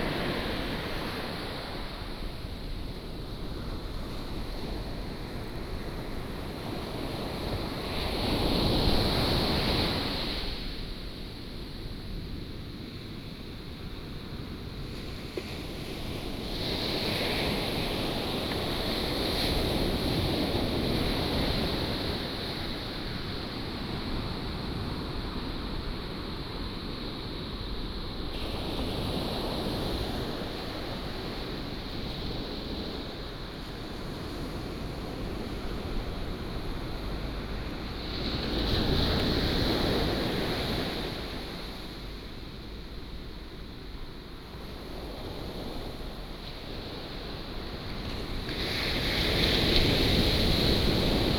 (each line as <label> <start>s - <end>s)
waves 0.0s - 51.3s